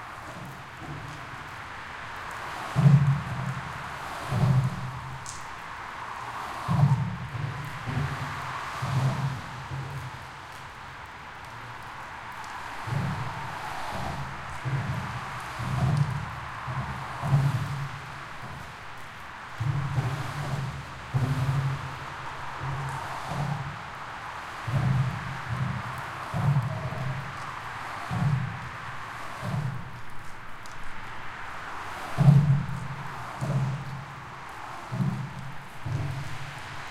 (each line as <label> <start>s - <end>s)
Car 0.0s - 36.9s
Rain 0.0s - 36.9s